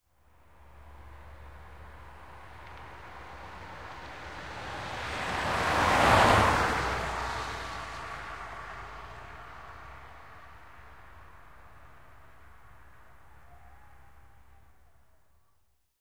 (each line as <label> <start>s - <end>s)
vehicle driving by 0.7s - 13.1s